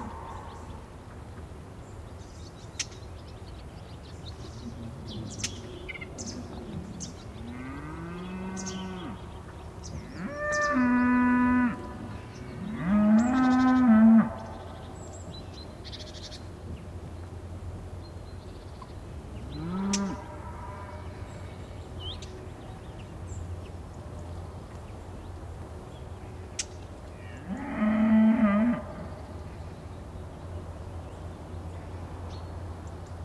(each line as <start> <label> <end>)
0.0 birds 33.2
6.2 cows 9.3
10.0 cows 14.7
19.4 cows 21.6